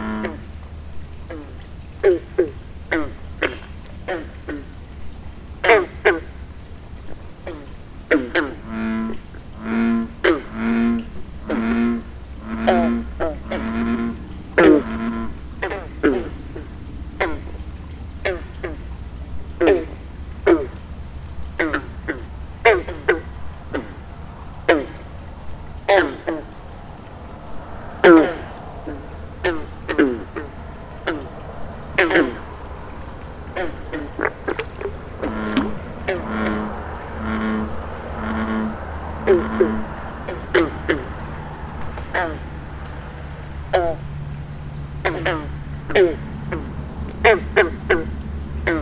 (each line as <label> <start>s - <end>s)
bullfrogs 0.0s - 48.8s